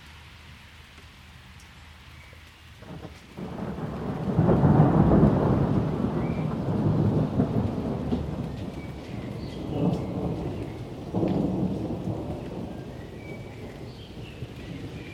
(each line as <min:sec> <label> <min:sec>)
0:00.0 a little light rain 0:15.1
0:02.8 Rolling thunder 0:15.1
0:06.1 birdsong 0:06.6
0:08.6 birdsong 0:11.0
0:12.1 birdsong 0:15.1